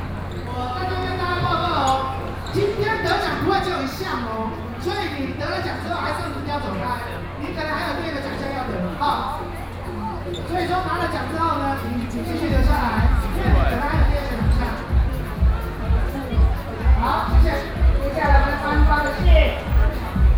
The crowd 0.0 - 20.3
walking in the Street 0.0 - 20.3
Hip-hop competitions 12.4 - 20.3

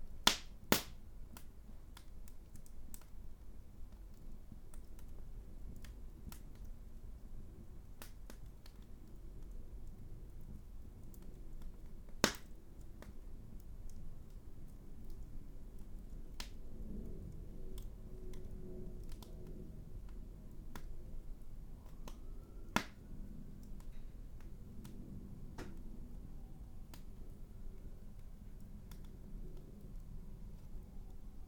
lighting a fire 0.0 - 31.4
police sirens 21.8 - 23.3

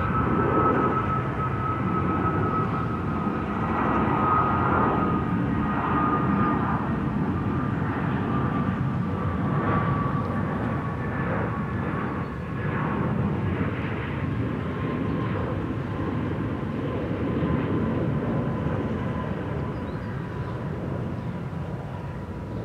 airplane 0.0 - 22.6

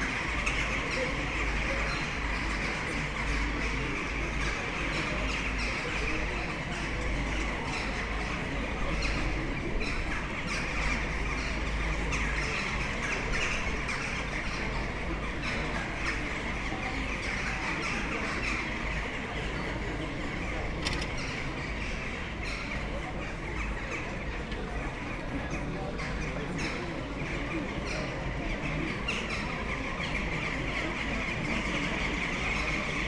big bunch of excited jackdaws in the trees 0.0 - 33.0
buzz and hum of people sitting outside bars 0.0 - 33.0

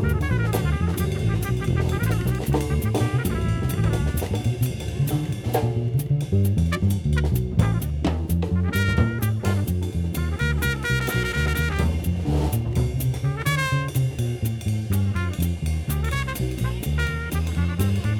Koncert 0.0 - 14.7

